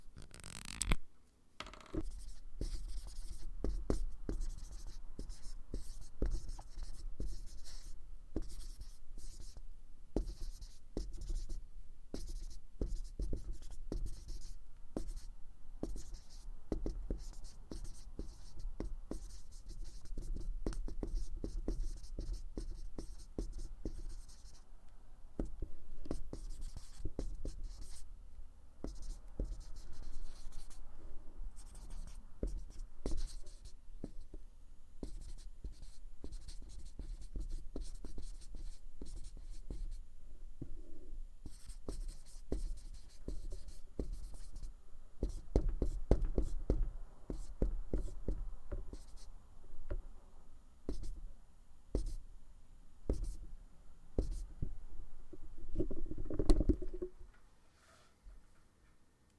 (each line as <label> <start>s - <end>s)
writing on a whiteboard 1.6s - 9.6s
writing on a whiteboard 10.2s - 24.7s
writing on a whiteboard 25.4s - 28.1s
writing on a whiteboard 28.8s - 30.9s
writing on a whiteboard 31.6s - 34.4s
writing on a whiteboard 35.0s - 40.0s
writing on a whiteboard 40.6s - 50.0s
writing on a whiteboard 50.9s - 51.2s
writing on a whiteboard 51.9s - 52.2s
writing on a whiteboard 53.1s - 53.4s
writing on a whiteboard 54.2s - 54.8s